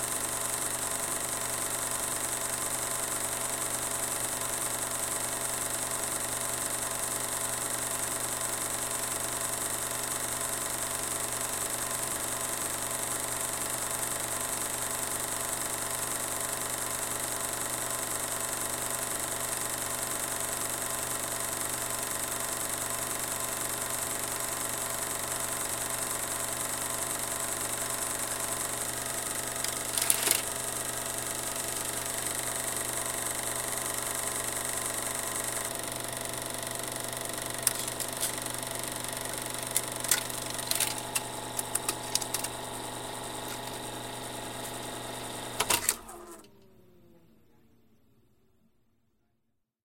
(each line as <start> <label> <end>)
0.0 8mm film projector being turned on 46.6
28.5 reel then reaches the end and is pulled through the projector 46.5